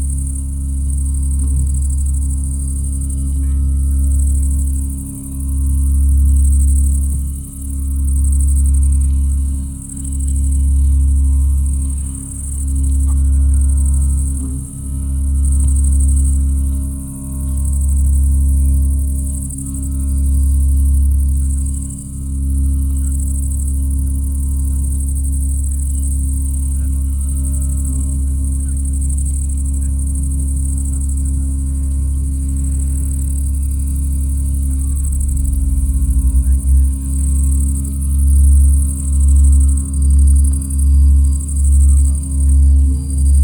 0.0s crickets 43.4s

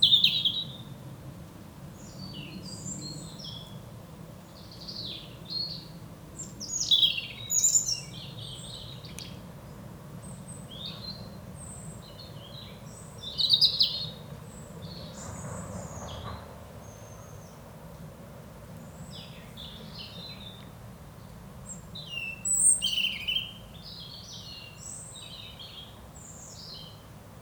0.0s blackbird is singing 0.9s
2.0s blackbird is singing 3.8s
4.5s blackbird is singing 9.4s
10.2s blackbird is singing 17.6s
18.9s blackbird is singing 20.7s
21.7s blackbird is singing 27.0s

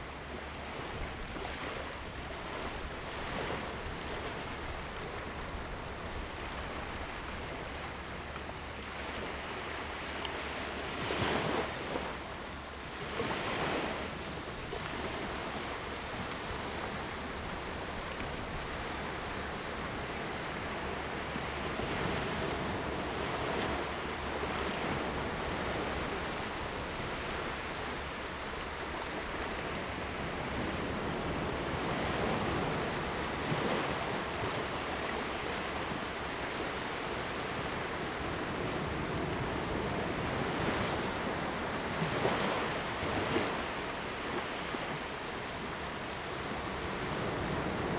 0.0s waves 47.9s

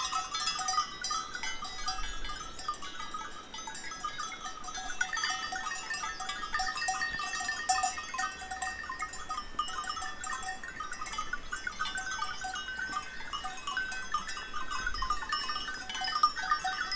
0.0s Goats and bells 16.9s

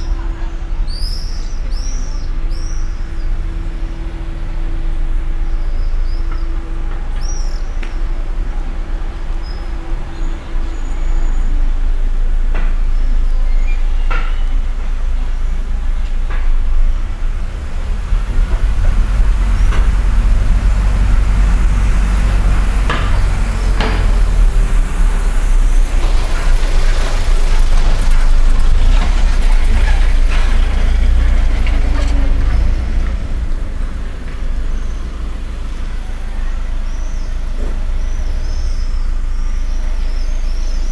14.7s truck passing very noisy and loud 40.8s

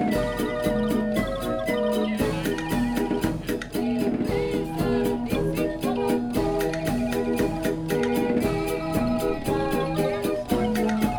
0.0s solid-state hurdy-gurdy 5.0s

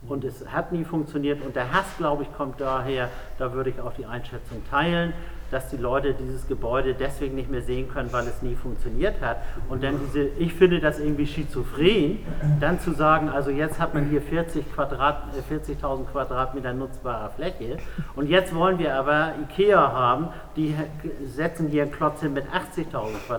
11.9s Publikumsdiskussion 14.0s

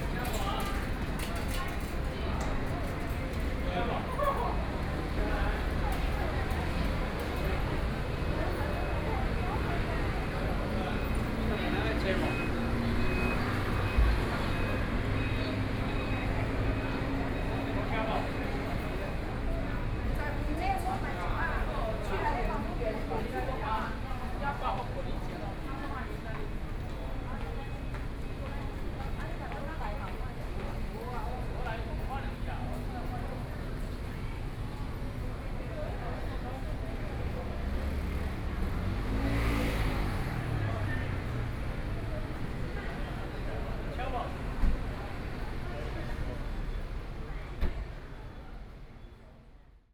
0.0s Taxi drivers at the outlet to attract guests 49.5s
40.6s Train travel from station 49.8s

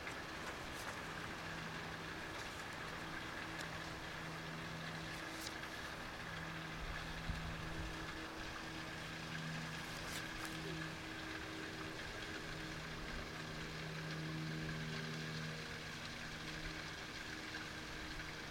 0.0s Walking 4.2s
0.0s Small stream 18.5s

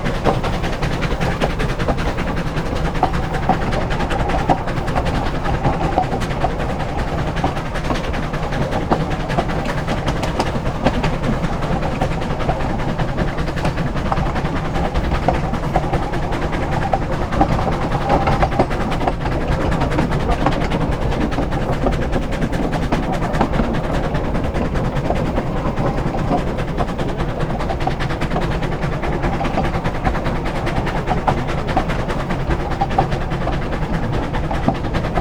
0.0s Steam Train Climbs 35.2s

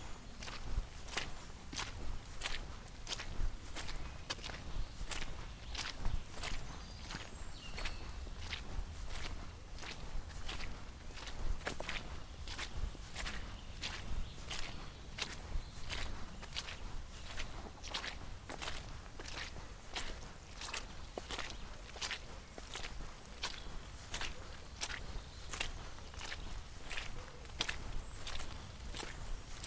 0.0s Steps 29.6s
0.0s birds 29.6s
0.0s wind 29.6s

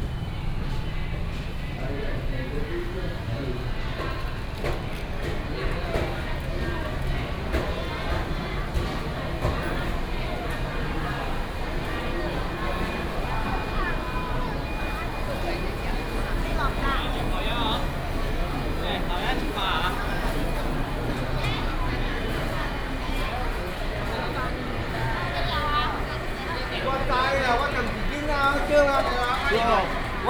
4.6s Traffic sound 30.2s

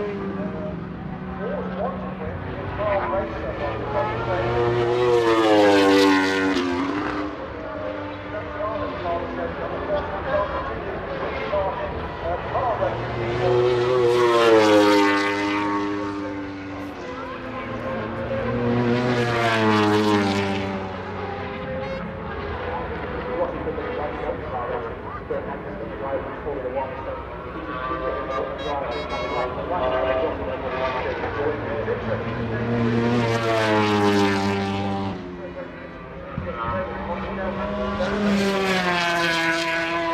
0.0s planes flying into East Midlands airport 40.1s
27.6s 990cc four strokes and 500cc two strokes 35.2s
28.2s air horns 29.7s

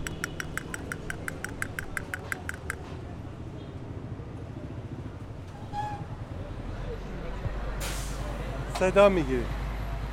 0.0s Toy seller 2.9s

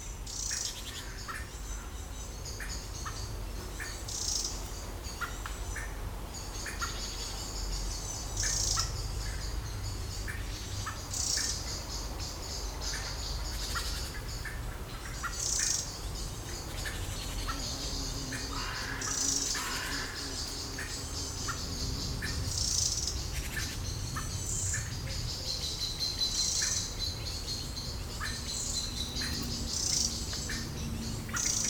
0.2s Blackbirds fighting 31.6s
17.5s mosquitoes 23.2s

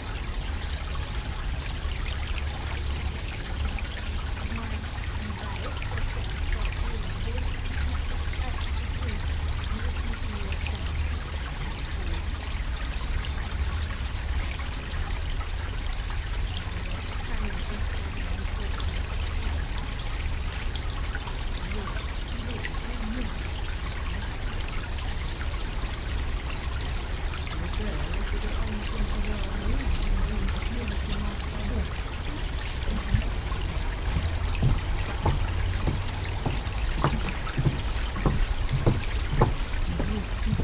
32.8s plätschern der itter 40.6s

